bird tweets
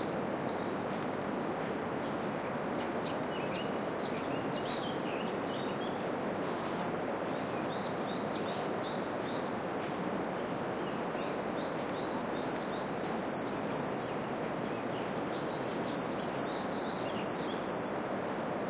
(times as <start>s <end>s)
0.0s 0.7s, 2.0s 6.1s, 7.3s 9.5s, 10.4s 17.9s